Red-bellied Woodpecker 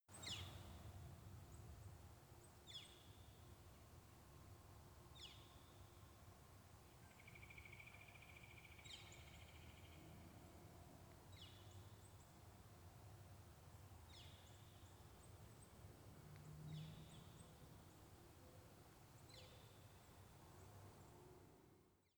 0:07.0 0:10.0

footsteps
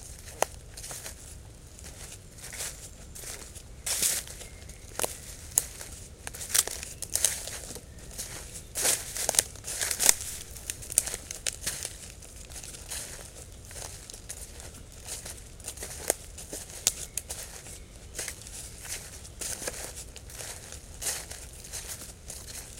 0:08.2 0:12.1

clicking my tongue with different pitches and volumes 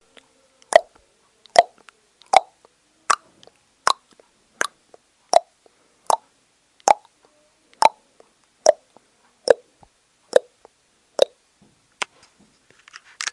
0:00.1 0:03.3, 0:03.9 0:05.5, 0:06.8 0:07.1, 0:07.7 0:08.0, 0:08.6 0:08.9, 0:10.3 0:11.4

